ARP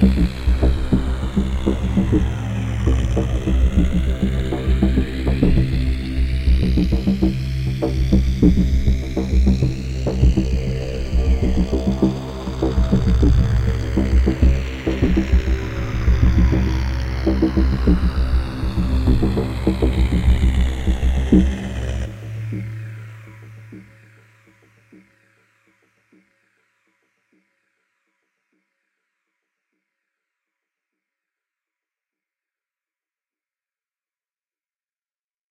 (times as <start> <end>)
0.0 25.4